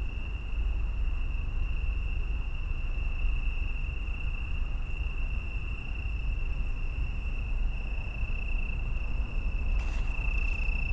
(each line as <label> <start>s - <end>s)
Italian tree crickets 0.0s - 10.9s